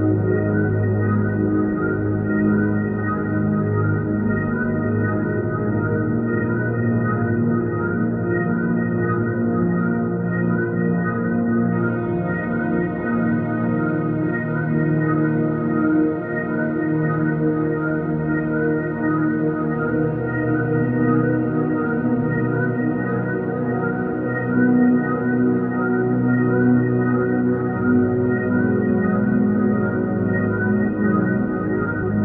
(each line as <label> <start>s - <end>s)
drone 0.0s - 32.2s